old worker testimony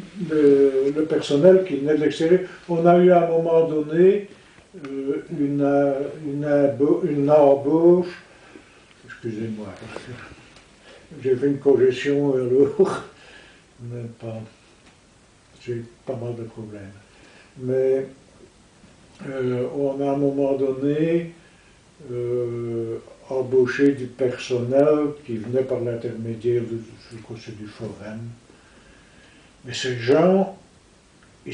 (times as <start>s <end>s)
0.0s 14.6s